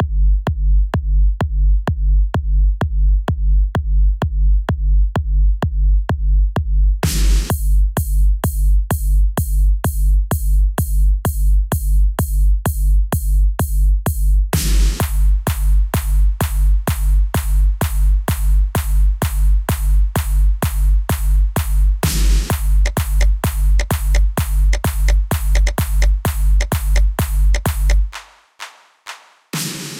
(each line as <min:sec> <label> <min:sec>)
0:00.0 simple bass kick 0:28.1
0:07.0 percussion beat 0:29.9
0:14.6 clap 0:29.9